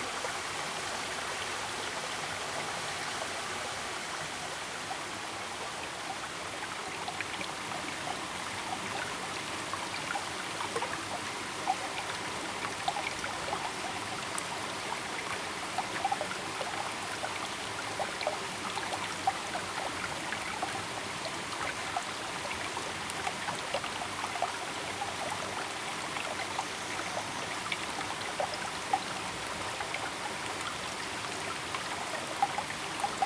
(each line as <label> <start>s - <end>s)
small Stream 0.0s - 33.2s
small waterfall 0.0s - 33.2s